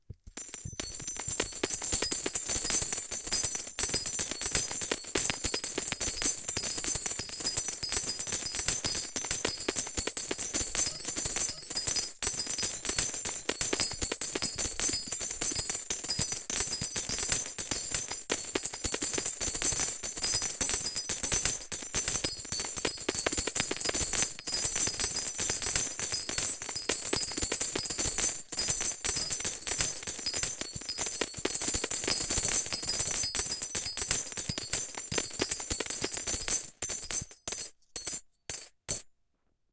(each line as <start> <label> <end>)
33.5 Large coins falling 39.0